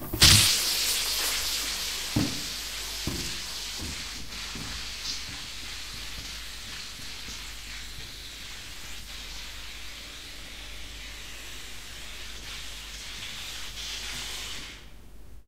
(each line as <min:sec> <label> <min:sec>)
0:00.0 Balloon Flying Away 0:00.9